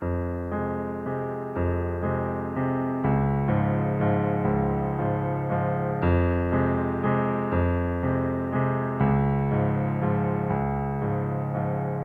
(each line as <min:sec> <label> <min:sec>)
0:00.0 piano 0:12.0